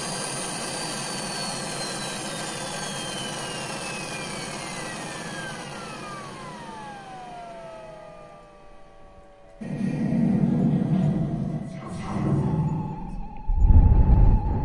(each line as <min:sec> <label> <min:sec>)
0:09.6 windy city 0:14.6